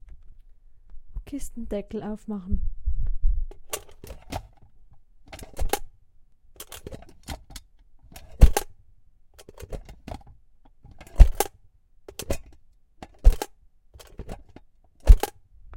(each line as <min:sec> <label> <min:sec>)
0:03.5 rattle 0:04.7
0:03.5 opening and closing a little money metal box 0:15.4
0:05.3 rattle 0:05.9
0:06.6 rattle 0:08.7
0:09.4 rattle 0:11.5
0:12.1 rattle 0:15.4